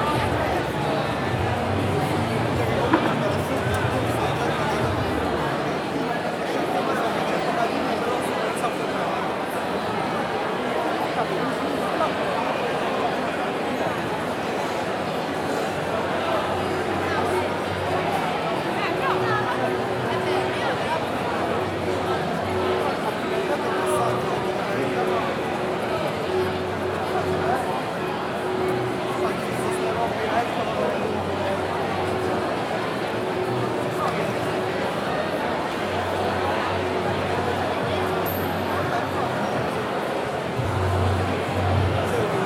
people having drinks, laughing and chatting 0.0 - 42.4

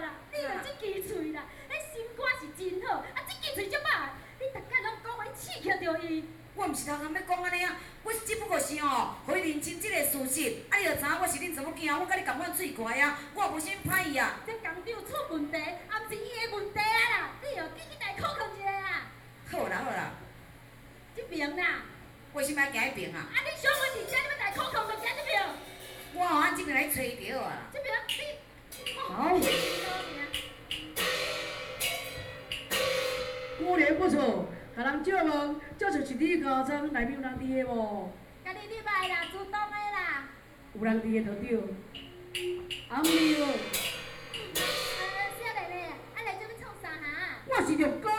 Taiwanese Opera 28.7 - 33.6

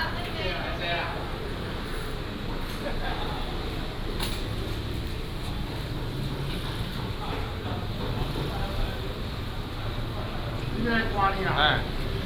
Traffic sound 0.0 - 12.2
Walking in the market 0.0 - 12.2

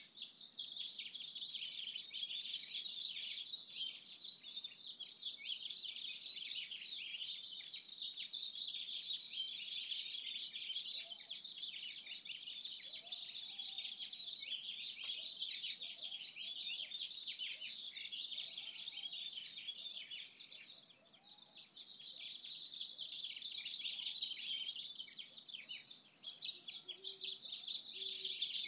bird activity 7.2 - 28.6

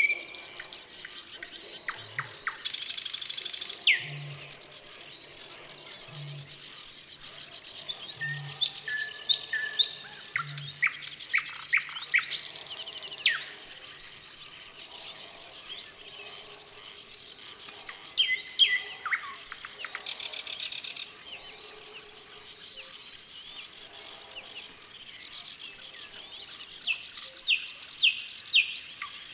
other birds 0.0 - 29.3

